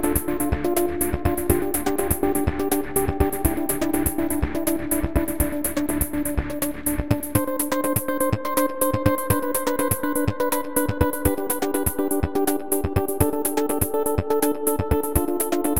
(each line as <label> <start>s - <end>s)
Electronic music dance track 0.0s - 15.7s